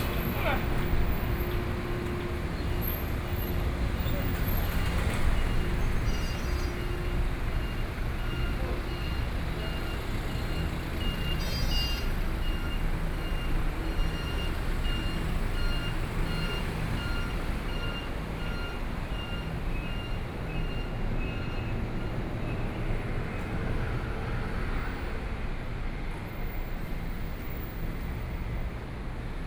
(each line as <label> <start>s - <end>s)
Pedestrians 0.0s - 29.4s
Traffic Sound 0.0s - 29.4s